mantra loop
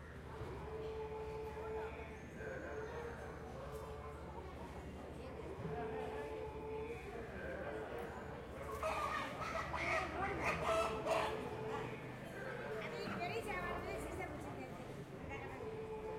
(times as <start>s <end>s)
15.2s 16.1s